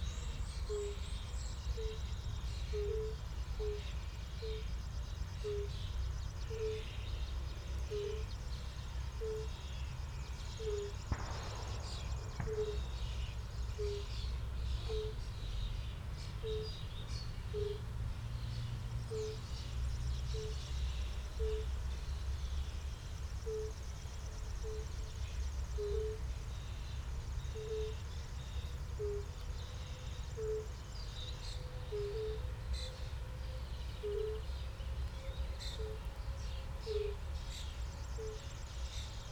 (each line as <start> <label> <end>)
9.2 fire-bellied toads (Bombina bombina) 15.4
11.1 shooting from nearby 14.4
11.2 surrounding traffic drone 24.2